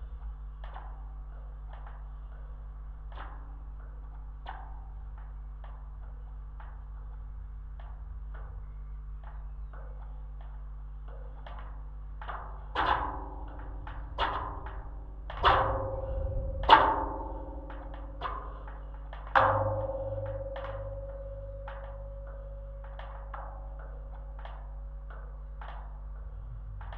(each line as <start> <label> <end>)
0.0 slight electric hum 26.9
0.0 wind 26.9